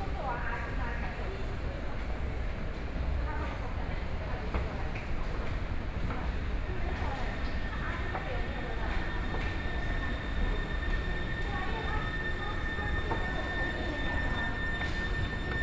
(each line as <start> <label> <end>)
0.0 walking in the MRT Station 15.6